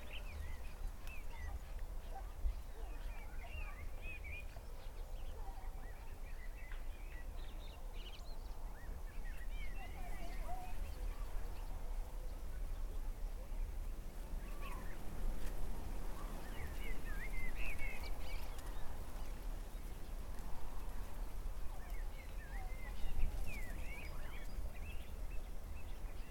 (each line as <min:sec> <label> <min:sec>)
0:00.0 far away people 0:20.0
0:00.0 all sort of birds 0:26.3